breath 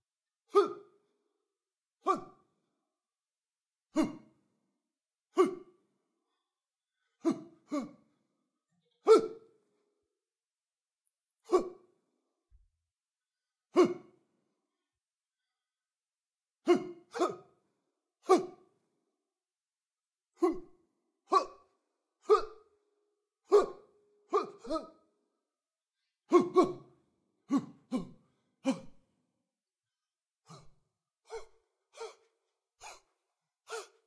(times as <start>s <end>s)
6.2s 7.2s, 30.5s 34.0s